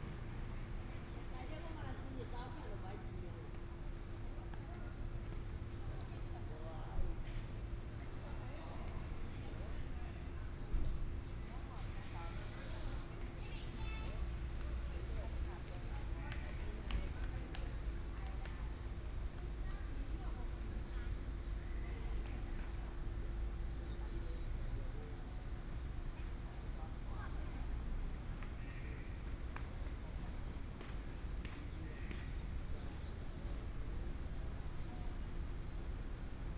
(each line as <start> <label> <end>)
13.4 Traffic sound 36.5